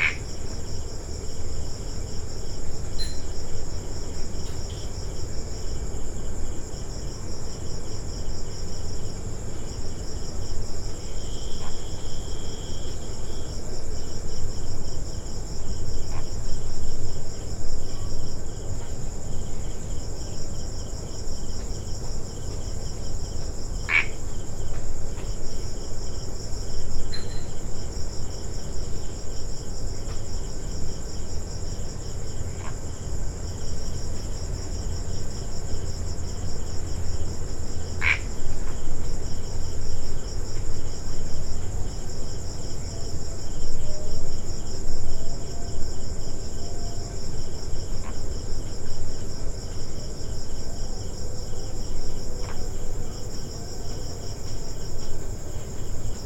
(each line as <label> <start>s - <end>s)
just one frog making calls 0.0s - 0.3s
crickets 0.0s - 56.2s
just one frog making calls 23.9s - 24.2s
just one frog making calls 38.0s - 38.3s